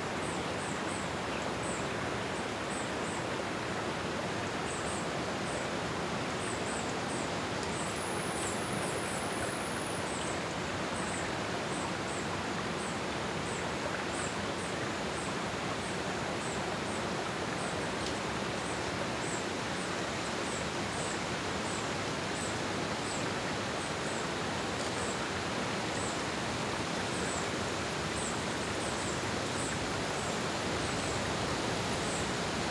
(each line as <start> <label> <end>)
6.4 insectos 10.4
18.7 insectos 32.7
19.2 Aves 32.7